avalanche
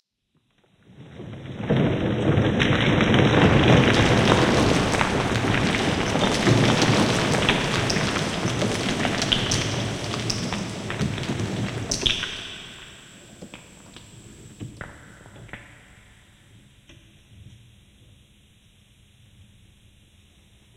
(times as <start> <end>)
0.8 13.4